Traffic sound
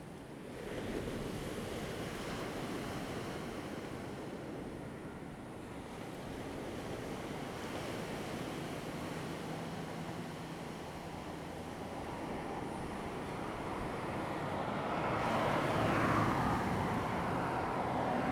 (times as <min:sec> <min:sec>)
0:08.6 0:18.3